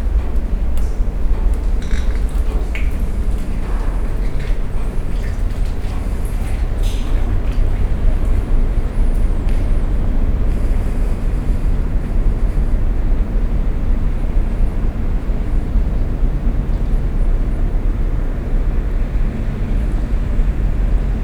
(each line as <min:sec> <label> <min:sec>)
0:00.0 Dripping 0:10.9